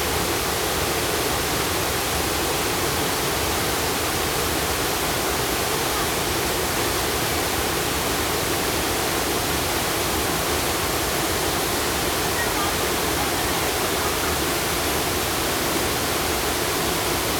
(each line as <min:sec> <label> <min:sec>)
0:00.0 waterfall 0:17.3